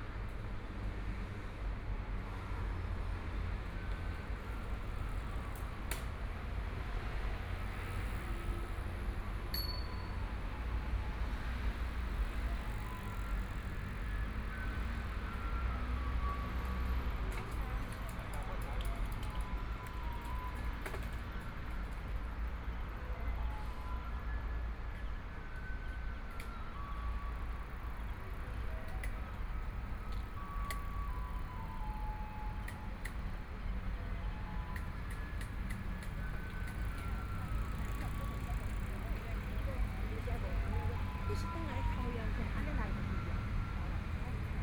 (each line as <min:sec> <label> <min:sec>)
0:00.0 Walking along the track beside the MRT 0:44.6
0:26.6 MRT trains 0:44.6
0:36.7 Bicycle voice 0:42.0